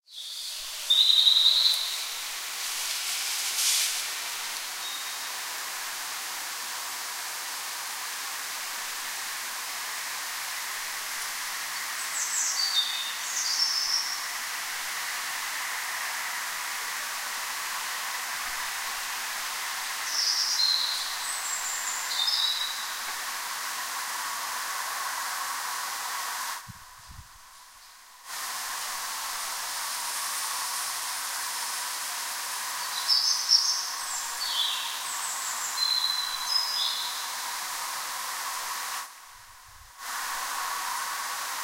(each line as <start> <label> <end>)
0.1 night bird singing 2.4
4.5 night bird singing 5.4
11.7 night bird singing 14.4
20.0 night bird singing 23.1
32.6 night bird singing 37.4